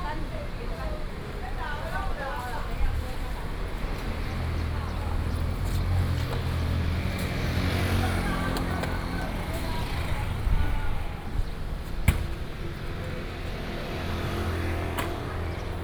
Traffic Sound 0.0 - 15.8
walking on the Road 0.0 - 15.8

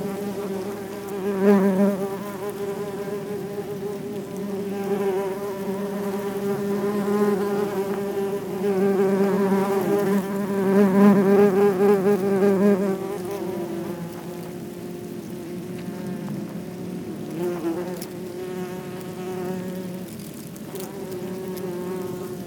Wasps' nest 0.0 - 22.4

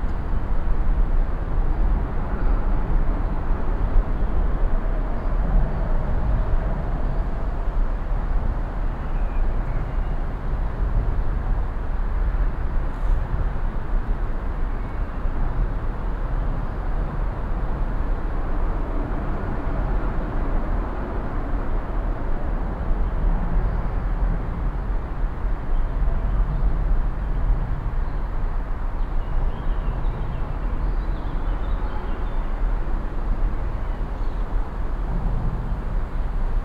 traffic 0.0 - 36.6
wind in the trees 0.0 - 36.6
birds singing 29.0 - 32.6

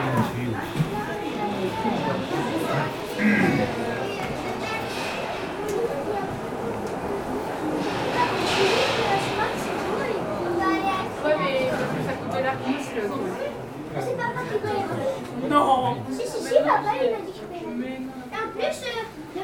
people wait 0.0 - 19.4

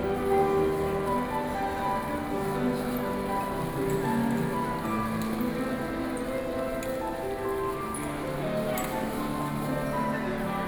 Piano Performance 0.0 - 10.6

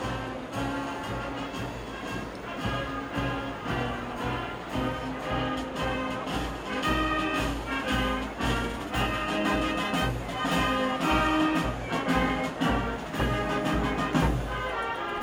Trommel 0.0 - 15.2
Volk 0.0 - 15.2

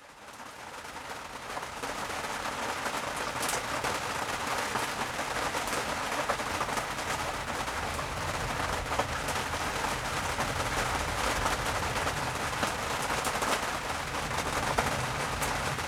heavy rain hits the tarp 0.0 - 15.8
thunderstorm 6.4 - 15.8

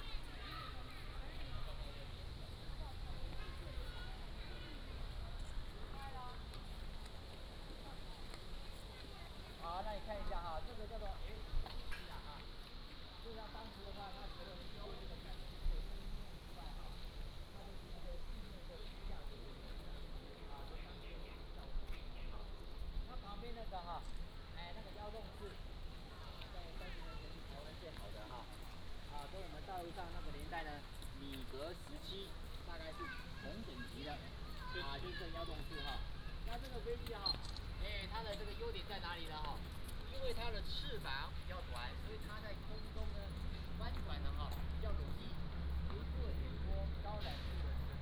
Tourists 0.0 - 48.0

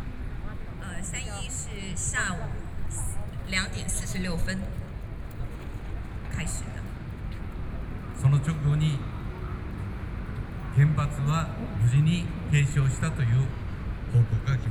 Speech 0.4 - 5.7
Speech 8.2 - 9.1
Speech 10.8 - 14.7

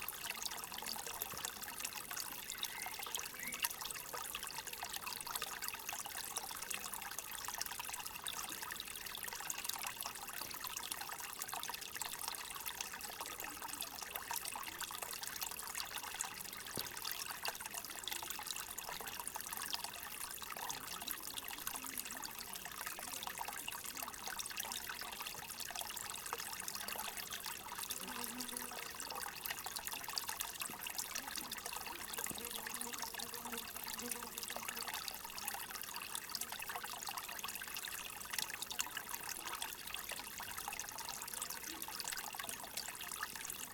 stream 0.0 - 43.7

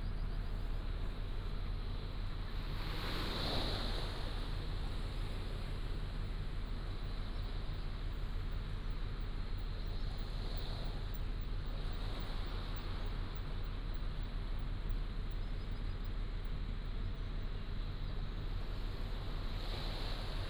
tide 0.0 - 20.4

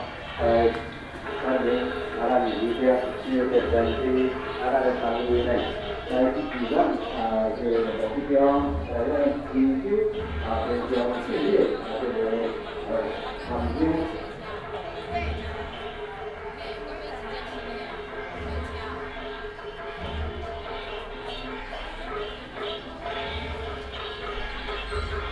Traffic sound 0.0 - 25.3

